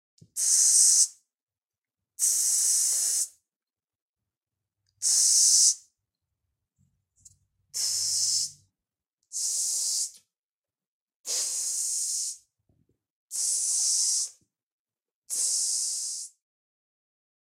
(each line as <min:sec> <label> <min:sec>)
0:00.4 spraycan 0:01.1
0:02.2 spraycan 0:03.4
0:05.0 spraycan 0:05.8
0:07.8 spraycan 0:08.6
0:09.4 spraycan 0:10.1
0:11.3 spraycan 0:12.4
0:13.3 spraycan 0:14.4
0:15.3 spraycan 0:16.3